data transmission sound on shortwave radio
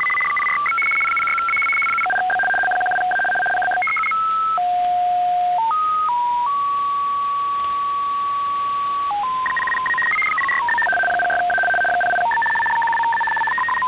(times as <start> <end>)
0.0 5.0, 9.1 13.8